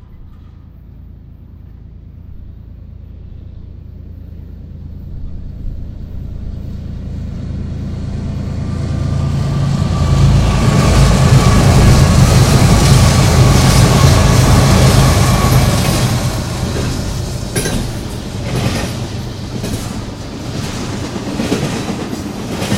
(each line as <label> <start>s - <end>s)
Train comming 0.0s - 22.7s